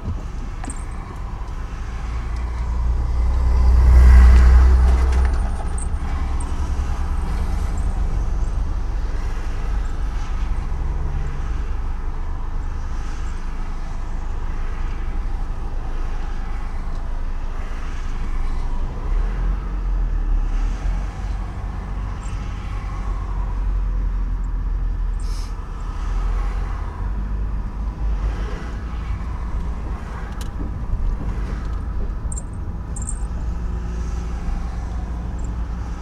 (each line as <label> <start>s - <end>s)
navigating his van 0.0s - 11.5s
navigating his van 21.1s - 26.0s
navigating his van 28.7s - 36.0s